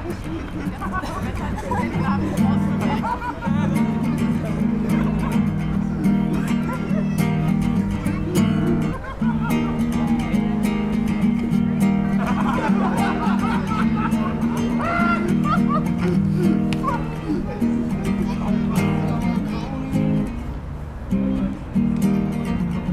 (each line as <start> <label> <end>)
0.0 gespräche 20.5
0.0 lachen 22.9